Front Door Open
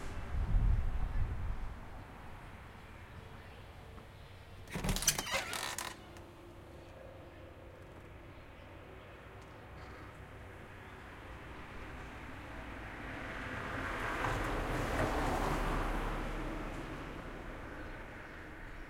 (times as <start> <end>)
4.6 6.2